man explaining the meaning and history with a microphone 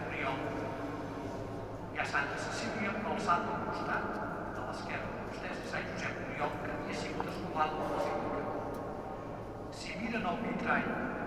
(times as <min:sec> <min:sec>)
0:00.0 0:00.8, 0:01.9 0:08.6, 0:09.7 0:11.2